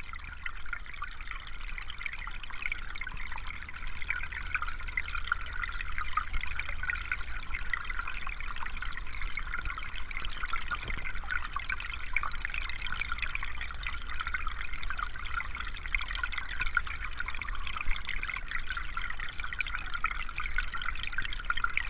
stream 0:00.0 - 0:21.8

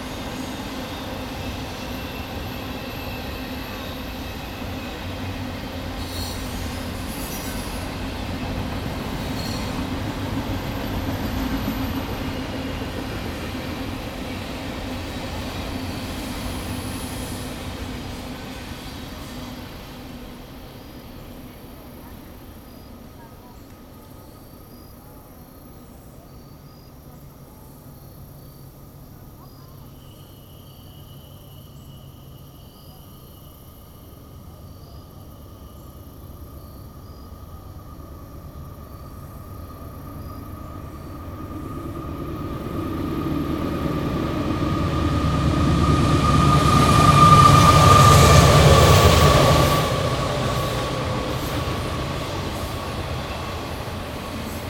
two freight trains crossing bridge over road 0:00.0 - 0:54.6

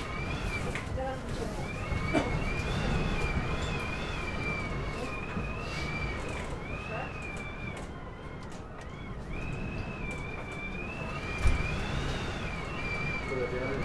wind penetrating through chinks in the wooden walls 0:00.0 - 0:13.8
tourists talking 0:00.6 - 0:03.6

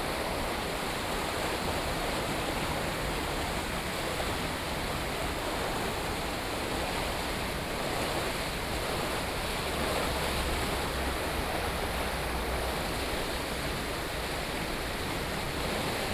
water 0:00.0 - 0:16.1

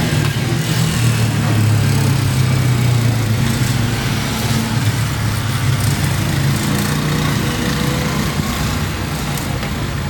cars 0:00.0 - 0:10.0
motorcycles 0:00.0 - 0:10.0
street vendors 0:00.0 - 0:10.0
wind 0:00.0 - 0:10.0

